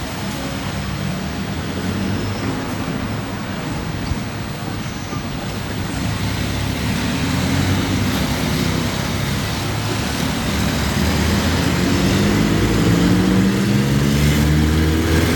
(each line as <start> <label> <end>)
0.0 cars 15.3
0.0 street vendors 15.3
0.0 voices of passersby 15.3
0.0 wind 15.3
4.7 motorcycles 15.3